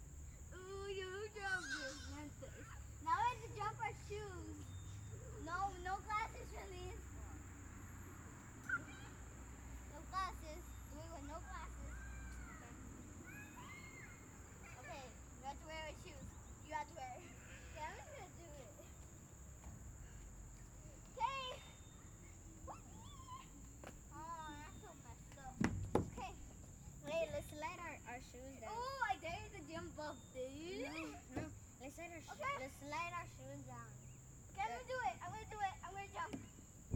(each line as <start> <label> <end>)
0.5 Children playing 7.4
2.4 cars occasionally drifting past 13.3
8.6 Children playing 19.2
20.5 Children playing 36.9